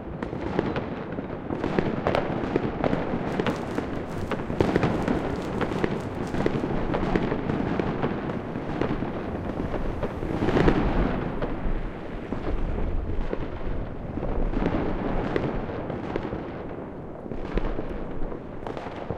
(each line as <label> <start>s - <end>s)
Fireworks 0.0s - 19.1s